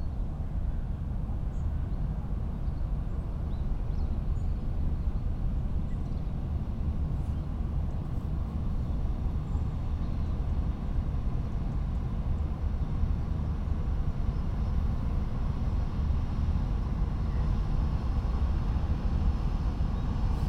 boat is passing by on the Seine river 0.0 - 20.4

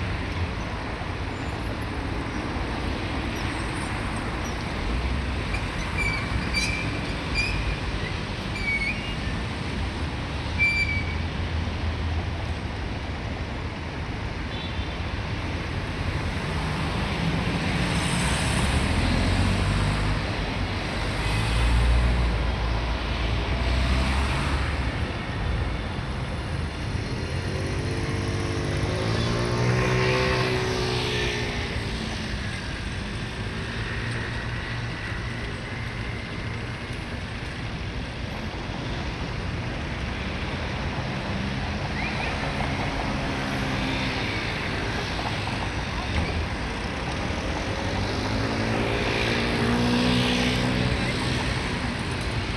cars 0.0 - 52.5
motorcycles 26.6 - 52.5

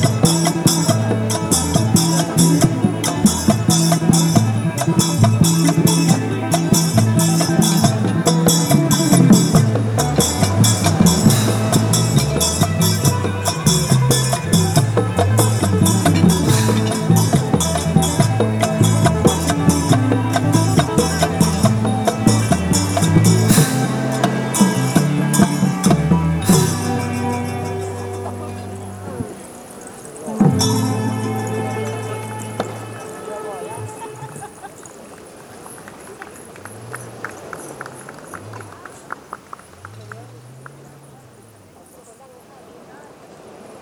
live band 0.0 - 34.6

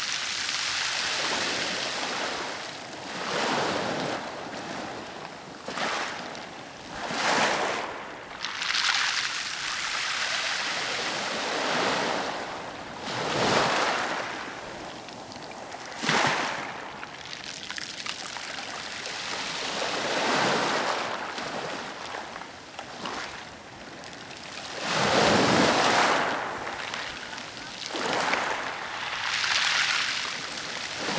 waves fizzing and then trickling through the pebbles 0.0 - 31.1

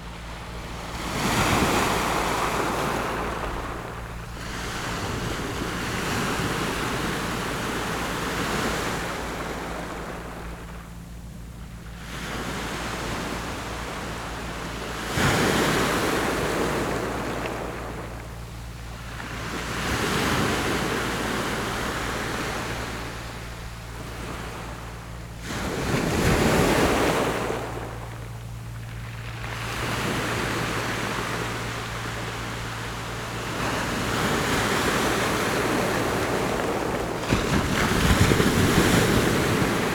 waves 0.0 - 39.9

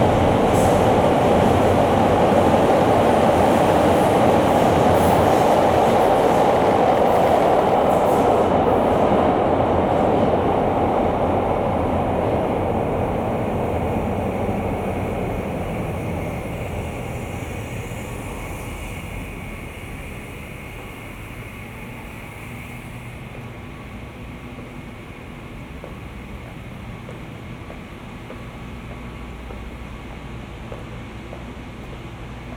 subway 0.0 - 32.5

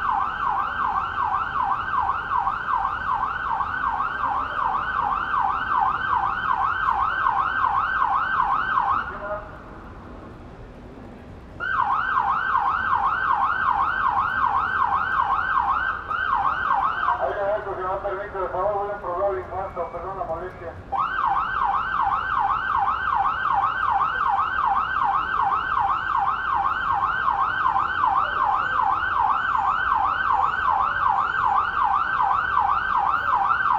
police siren 0.0 - 9.7
cars 0.0 - 33.7
rain 0.0 - 33.7
police siren 11.6 - 33.7
voices 16.8 - 20.8

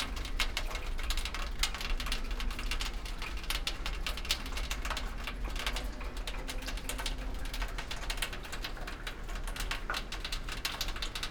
rain on horizontal part of a strange chimney 0.0 - 11.3

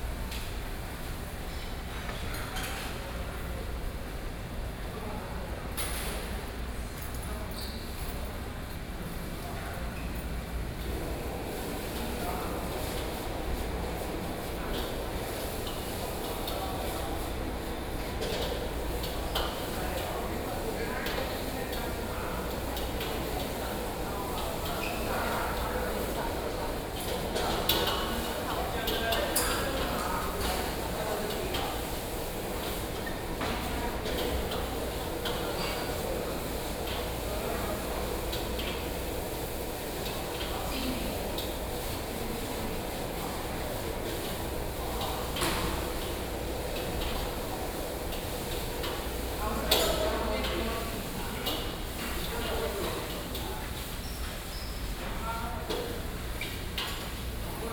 Cooking stall 0.0 - 57.7

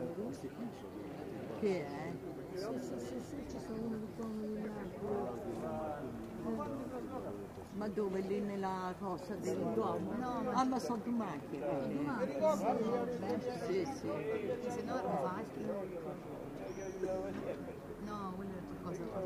People get together at aperetivo time to chatter 0.0 - 19.2

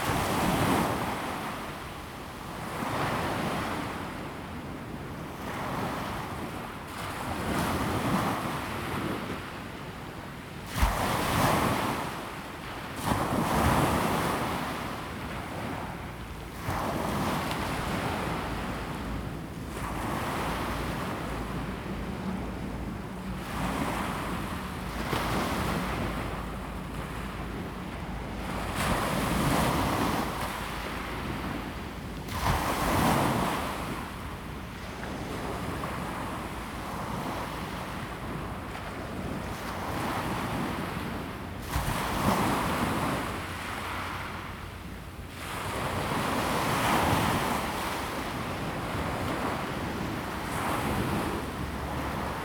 traffic sound 17.8 - 32.0

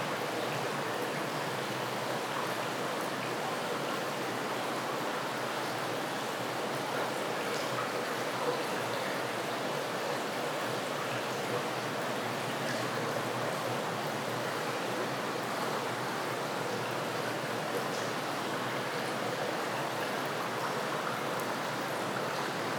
water dripping and flowing inside a tunnel 0.0 - 22.7

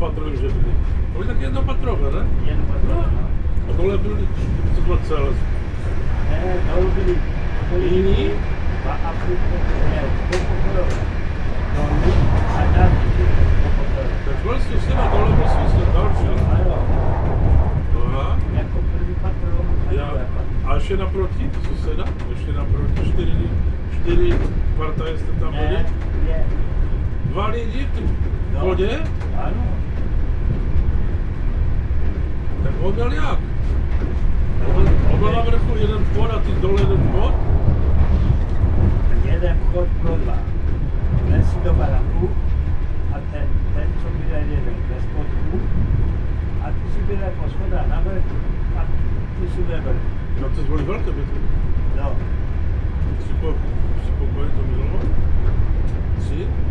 train 0.0 - 56.7

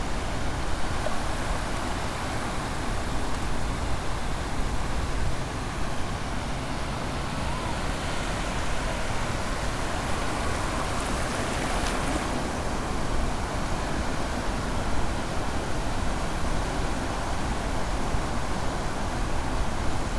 Sea 0.0 - 20.1

